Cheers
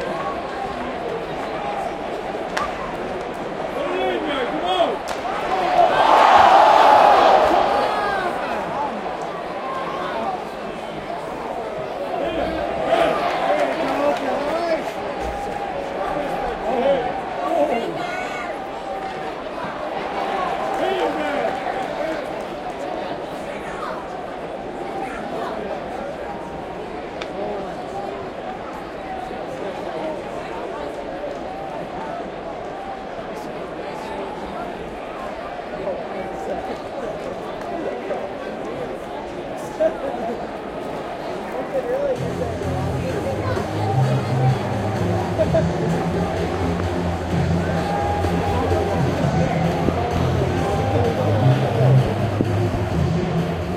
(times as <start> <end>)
3.7 10.6, 11.6 24.0, 43.3 52.1